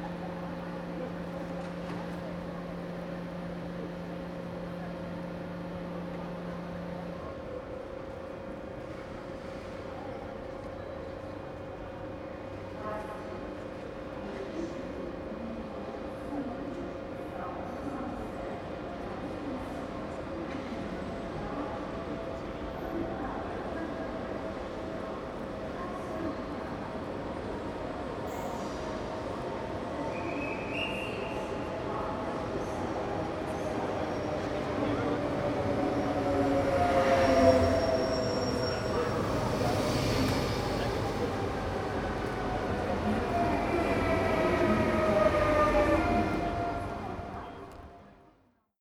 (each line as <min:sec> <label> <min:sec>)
0:20.8 Train arriving 0:48.2